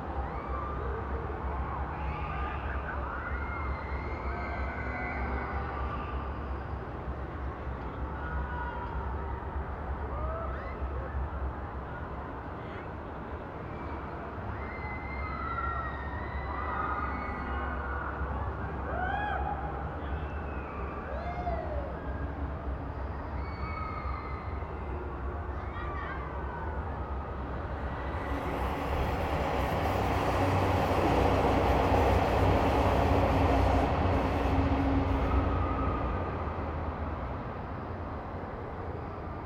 distant christmas market 24.3 - 39.4

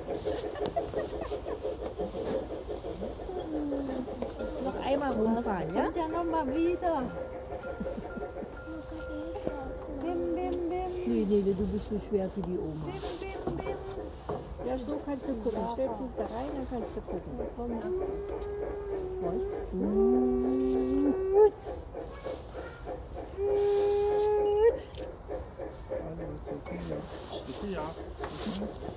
Model Trains 0.0 - 28.9

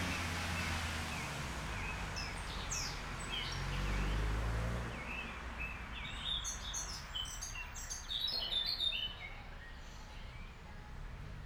cars passing by 0.0 - 7.8

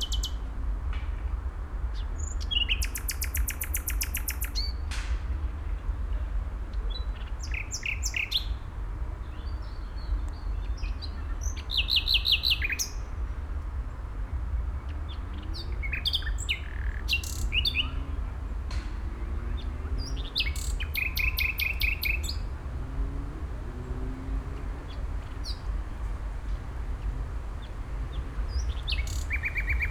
distant traffic 0.0 - 29.9
Nightingale 14.8 - 29.9

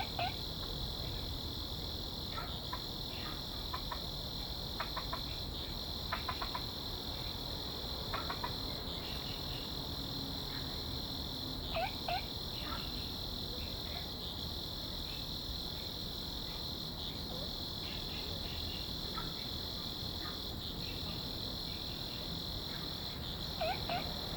Frog sound 0.0 - 0.4
insects 0.0 - 24.3
Frog sound 2.3 - 4.1
Frog sound 4.8 - 5.4
Frog sound 6.1 - 6.8
Frog sound 8.1 - 8.8
Frog sound 11.6 - 12.8
Frog sound 23.0 - 24.3

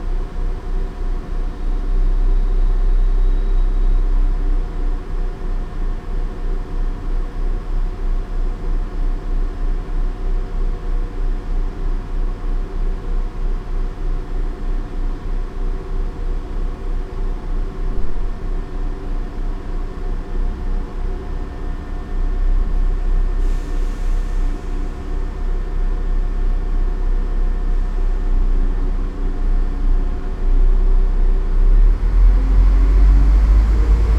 train arrives 23.4 - 26.1

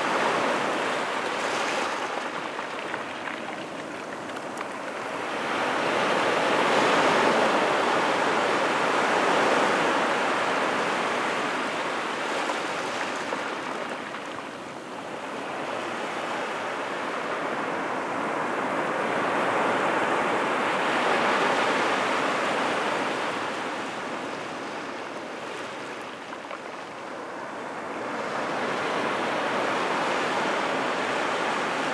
sea 0.0 - 31.9
shells rolling into the waves 1.1 - 7.2

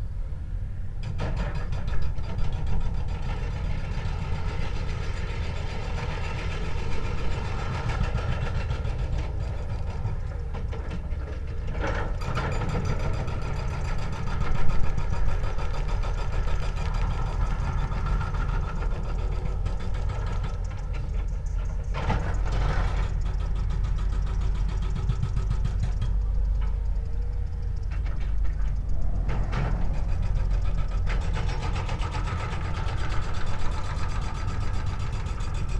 excavator with a hydraulic hammer attachment operating in the distance 0.0 - 35.7

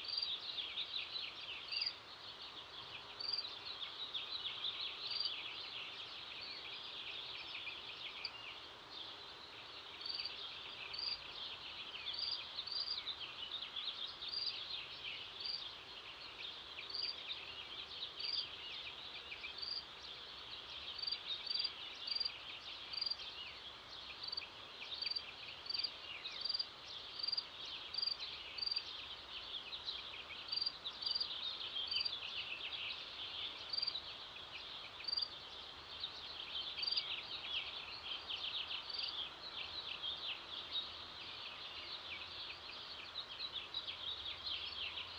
Birds 0.0 - 45.1

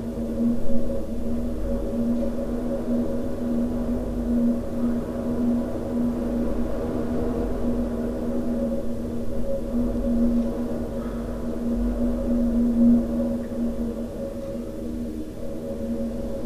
wind in the cellar of a house 0.0 - 16.4

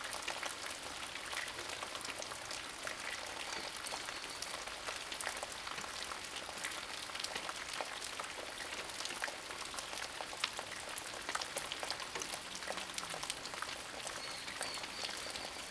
Rain sound 0.0 - 15.7

